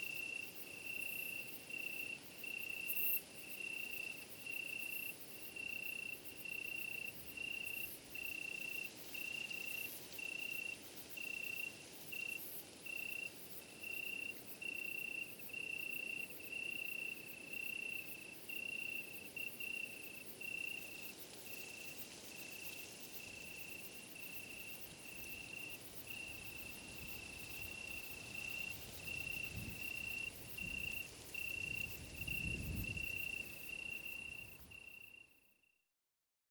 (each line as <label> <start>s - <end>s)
crickets 0.0s - 35.8s